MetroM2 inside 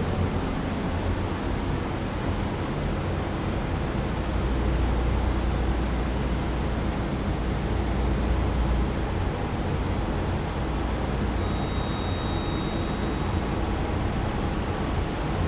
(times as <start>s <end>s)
11.3s 15.4s